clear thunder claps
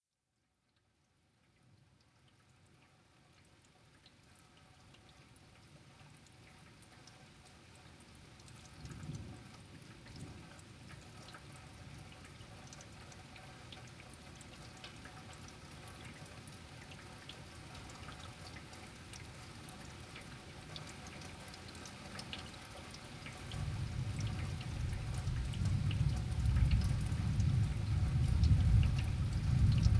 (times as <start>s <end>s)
23.5s 29.9s